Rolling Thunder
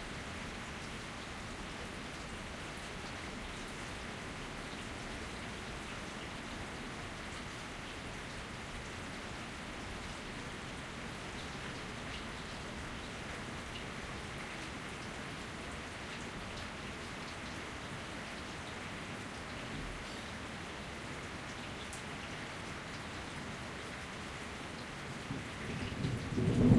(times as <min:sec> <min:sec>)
0:25.3 0:26.7